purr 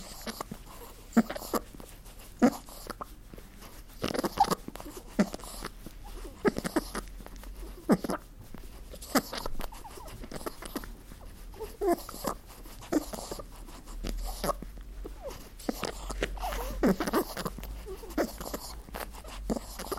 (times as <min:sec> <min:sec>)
0:11.8 0:19.9